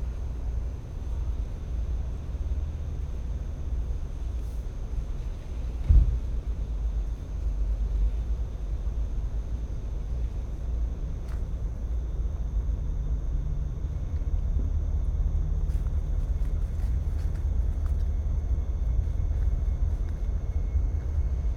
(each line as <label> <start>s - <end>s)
wind 0.0s - 21.5s
crickets 0.0s - 21.5s